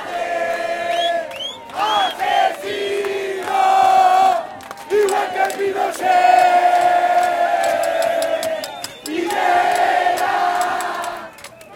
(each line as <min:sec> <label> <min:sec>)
0:00.0 Protesters singing 0:11.6